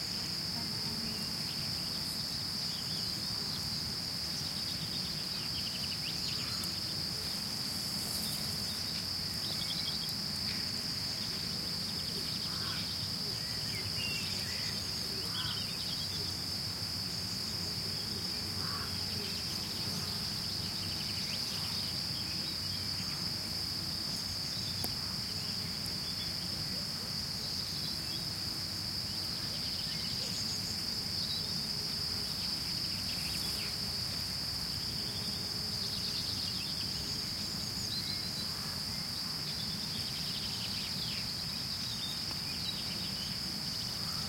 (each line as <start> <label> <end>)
0.0 crickets chirping 44.2